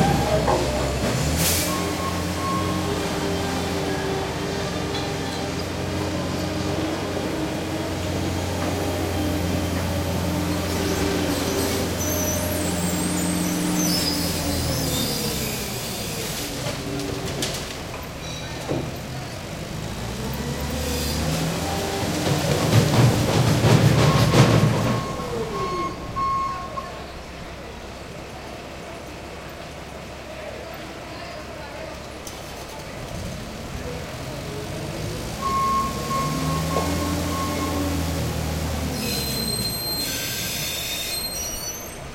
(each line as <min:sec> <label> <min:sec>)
0:00.0 construction mini backhoe 0:42.1